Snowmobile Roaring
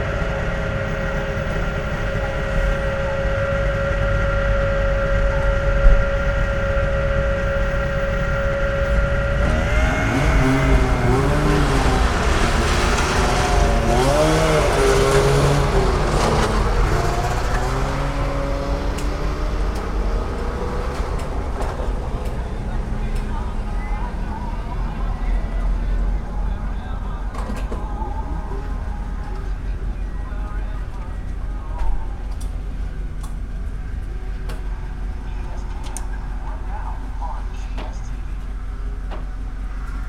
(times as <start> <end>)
0.0 27.3